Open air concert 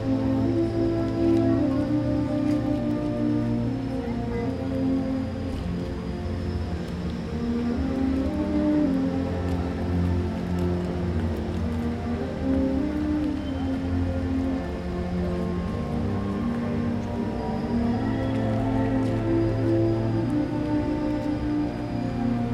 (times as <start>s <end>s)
5.7s 22.5s